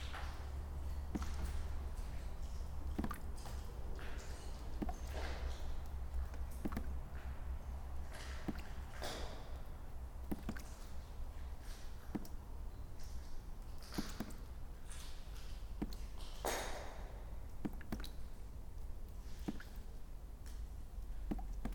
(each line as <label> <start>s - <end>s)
water drips through cracked ceilings 0.0s - 21.7s